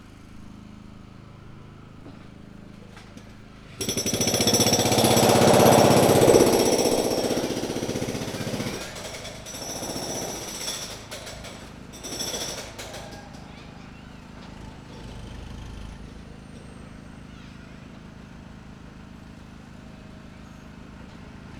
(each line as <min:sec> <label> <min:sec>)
0:02.0 pneumatic drill crushing concrete 0:16.1
0:03.0 sputter of a gas generator 0:16.5